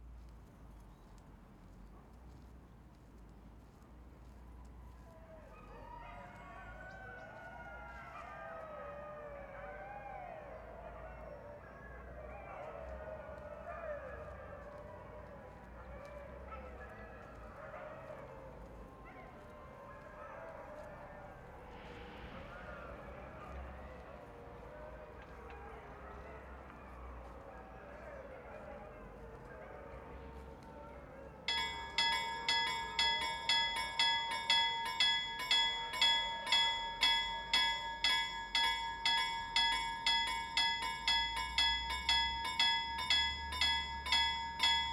passage train de marchandise 31.4 - 44.9
Meute de chiens 31.5 - 44.9

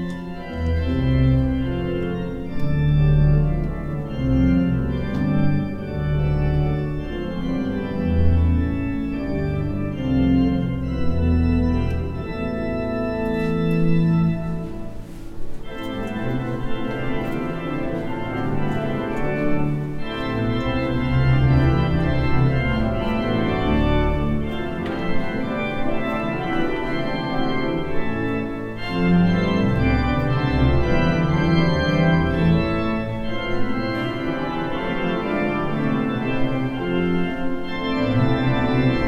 tones of piano from next door 0.0 - 39.0

